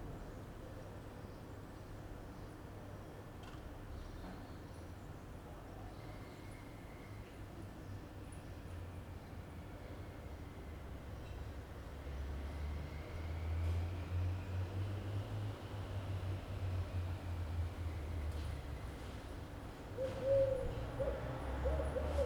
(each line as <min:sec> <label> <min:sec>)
0:17.7 movement of people 0:22.2